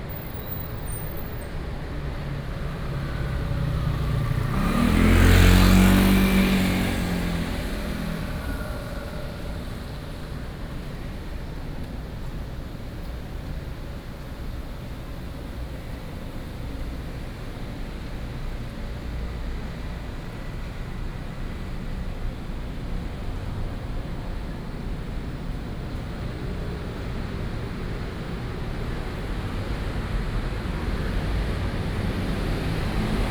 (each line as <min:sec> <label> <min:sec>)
0:00.0 Traffic Sound 0:33.3